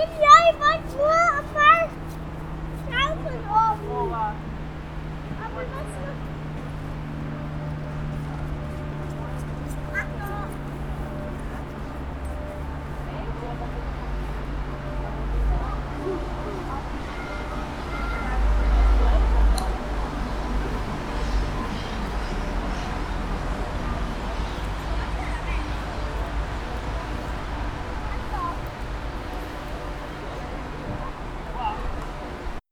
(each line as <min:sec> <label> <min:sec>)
0:00.0 girls talk 0:04.5
0:05.3 girls talk 0:06.3
0:09.2 girls talk 0:11.8
0:15.4 girls talk 0:19.6
0:21.4 girls talk 0:28.8